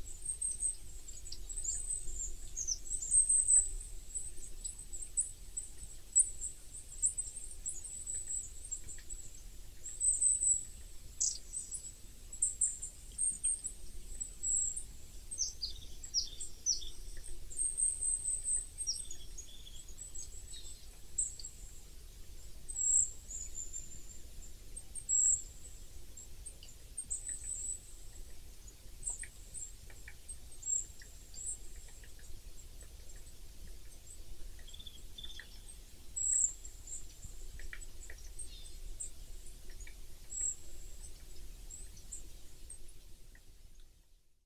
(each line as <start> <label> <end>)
0.0 birds in winter 44.4